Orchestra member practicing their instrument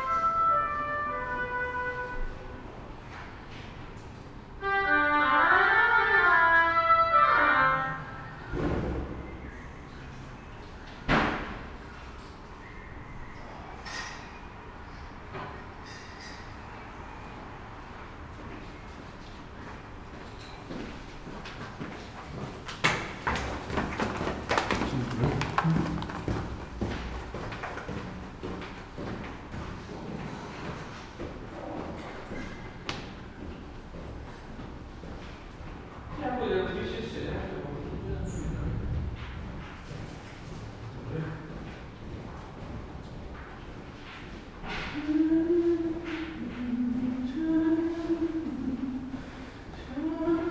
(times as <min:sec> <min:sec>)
0:00.0 0:02.6, 0:04.6 0:08.2